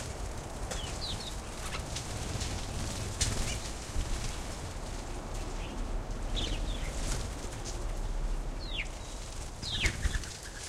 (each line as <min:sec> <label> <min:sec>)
0:00.0 wings flapping 0:04.5
0:09.3 wings flapping 0:10.6